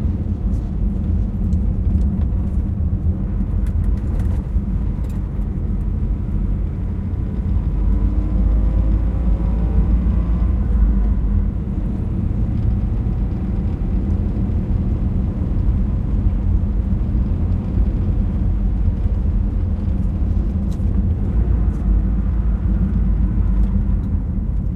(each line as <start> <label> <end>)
0.0 driving on asphalt 24.7